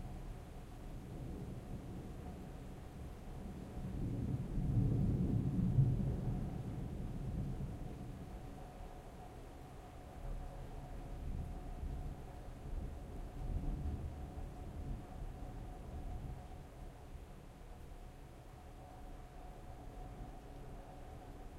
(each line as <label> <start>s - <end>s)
medium rain 0.0s - 21.5s
winds 0.0s - 21.5s
thunder 3.4s - 8.2s